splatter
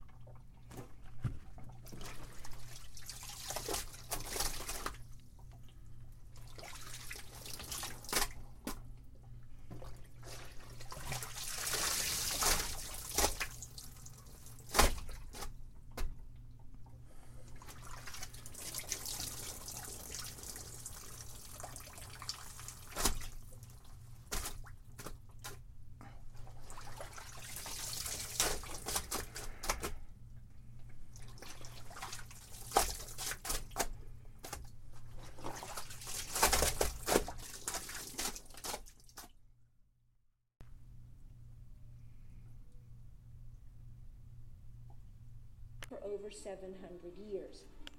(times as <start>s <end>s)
2.9s 5.0s, 10.2s 13.8s, 14.6s 15.5s, 22.2s 23.5s, 24.3s 25.6s, 26.8s 29.9s, 31.8s 34.6s, 35.2s 39.3s